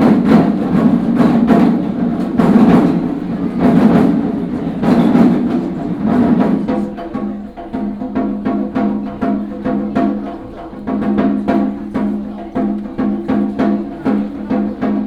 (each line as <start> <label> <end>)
0.0 Traffic sound 7.2
0.0 Walking in the temple 15.0